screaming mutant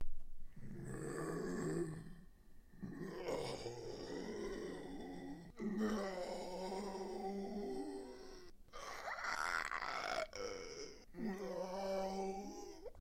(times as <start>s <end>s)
3.1s 13.0s